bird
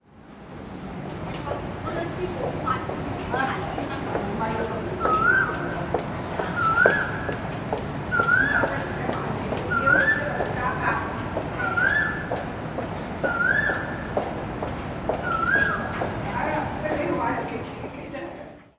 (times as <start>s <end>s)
6.6s 7.3s, 11.6s 12.3s, 15.2s 15.9s